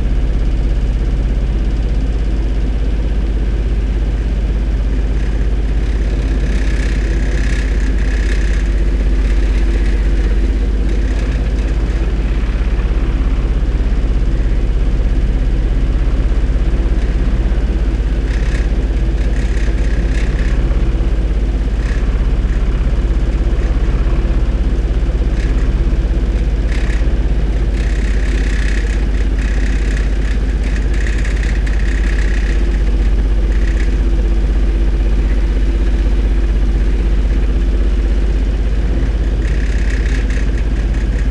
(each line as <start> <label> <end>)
0.0 generator 41.3
5.0 rattling hose clamp 12.7